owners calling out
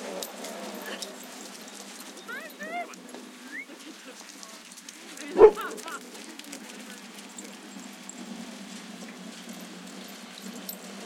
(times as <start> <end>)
2.0 6.9